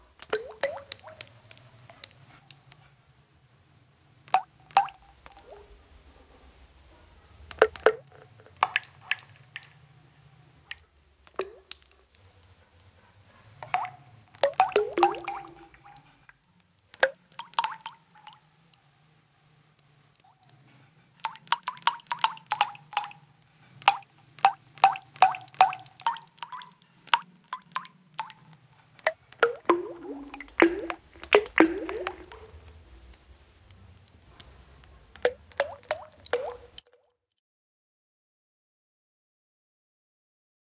0.2s synthesised sound of water drops with reverb 2.2s
4.3s synthesised sound of water drops with reverb 5.6s
7.5s synthesised sound of water drops with reverb 9.8s
10.7s synthesised sound of water drops with reverb 11.9s
13.6s synthesised sound of water drops with reverb 16.2s
17.0s synthesised sound of water drops with reverb 18.4s
21.3s synthesised sound of water drops with reverb 23.2s
23.8s synthesised sound of water drops with reverb 32.6s
35.2s synthesised sound of water drops with reverb 37.0s

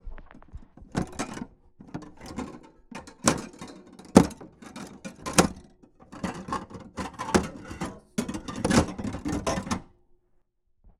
0.4s Glass plates moving in the kichen cabin 9.9s

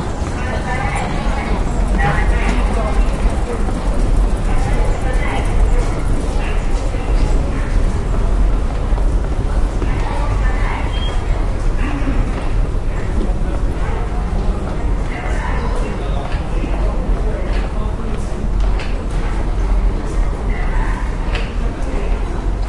0.0s People walk 22.6s
0.0s Speaker with information about the metro 22.6s

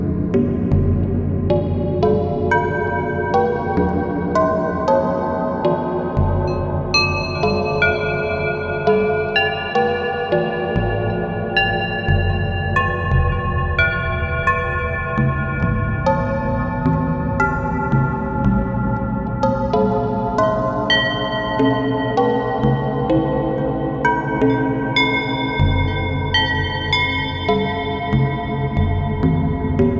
0.0s bells in a reverberating space 29.9s

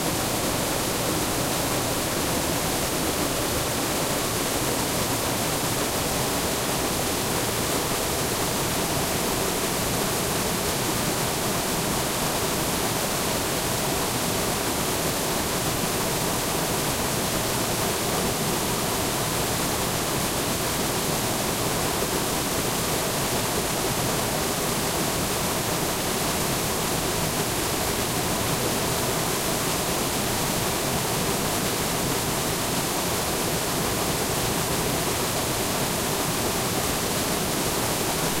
0.0s waterfall 38.4s

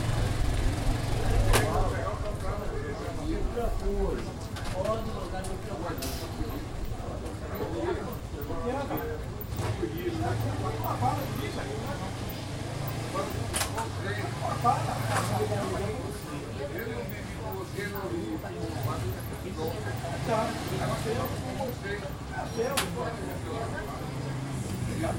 0.0s motorcycle 2.9s
1.0s Men talk 25.1s
9.4s motorcycle 18.0s
18.6s motorcycle 25.1s

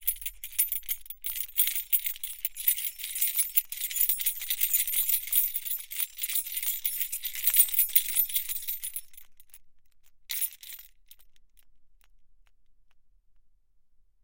0.0s keys ringing 9.3s

